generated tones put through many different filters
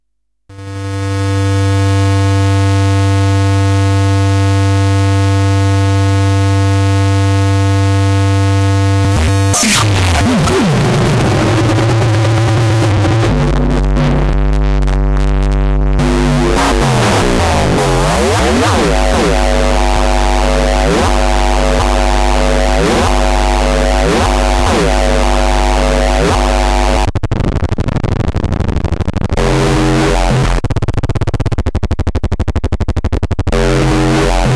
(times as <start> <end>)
8.2 14.7, 15.8 34.5